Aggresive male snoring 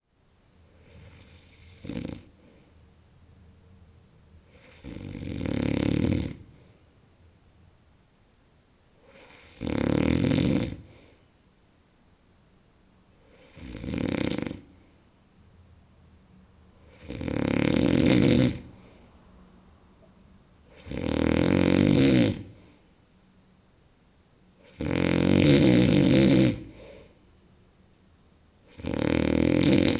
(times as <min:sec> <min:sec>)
0:01.0 0:02.3, 0:04.5 0:06.5, 0:09.1 0:10.9, 0:13.4 0:14.7, 0:16.9 0:18.7, 0:20.7 0:22.6, 0:24.6 0:26.9, 0:28.7 0:29.9